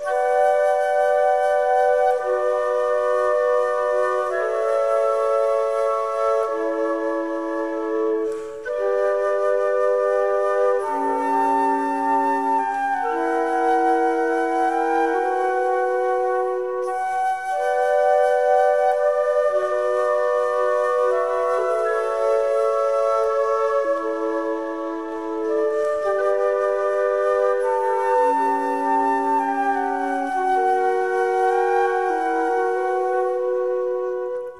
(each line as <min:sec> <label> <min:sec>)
0:00.0 flute 0:34.5